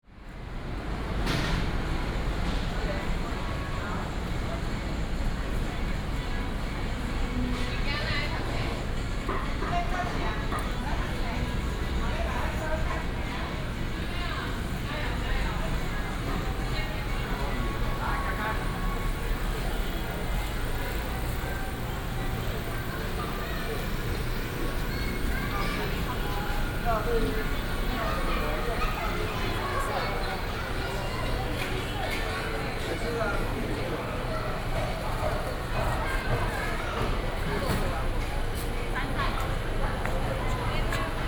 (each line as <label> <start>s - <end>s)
walking in the Evening market 0.0s - 41.2s
Traffic sound 0.1s - 41.2s